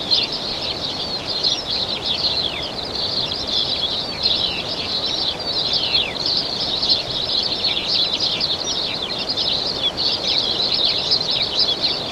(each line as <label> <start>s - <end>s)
birdsong 0.0s - 12.1s
sparrows 0.0s - 12.1s